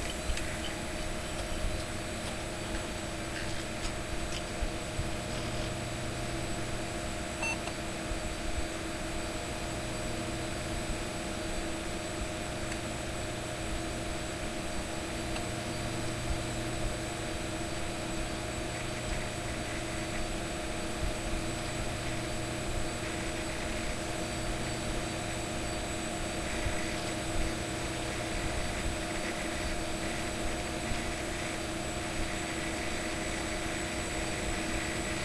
hard drives 0:00.0 - 0:35.2

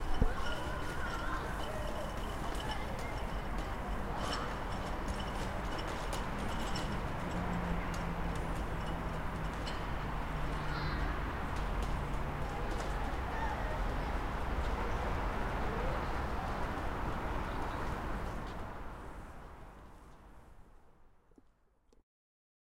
cars 0:00.1 - 0:20.6
child 0:00.2 - 0:03.2
child 0:10.5 - 0:11.3
child 0:12.4 - 0:15.1

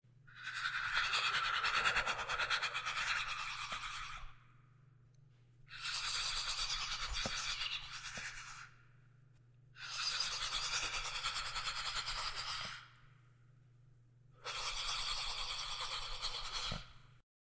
hiss 0:05.7 - 0:08.7
hiss 0:09.8 - 0:12.9
hiss 0:14.4 - 0:16.9

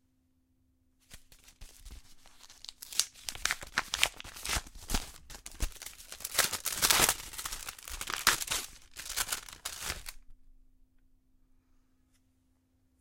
Ripping open an envelope 0:01.0 - 0:10.2

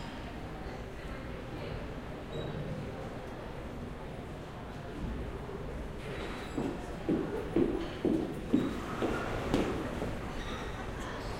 people chatting and eating 0:00.0 - 0:11.3
People walking past talking 0:00.0 - 0:11.3

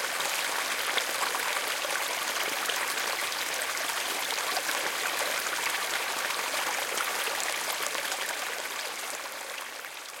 rain 0:00.0 - 0:10.2
small stream 0:00.0 - 0:10.2
waterfall 0:00.0 - 0:10.2

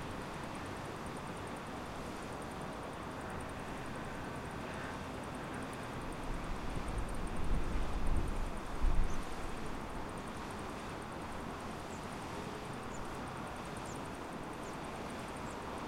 Crickets 0:00.0 - 0:15.8
River 0:00.0 - 0:15.8
Wind 0:00.0 - 0:15.8

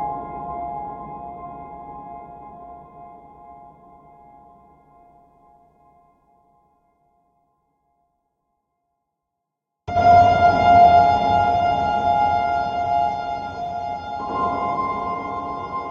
Reverbed Piano 0:00.0 - 0:05.8
Reverbed Piano 0:09.9 - 0:15.9
bass 0:09.9 - 0:15.9
synth 0:09.9 - 0:15.9

